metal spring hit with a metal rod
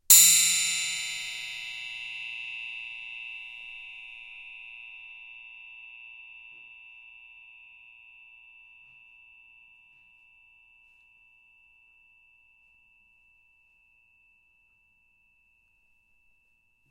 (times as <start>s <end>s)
0.1s 2.6s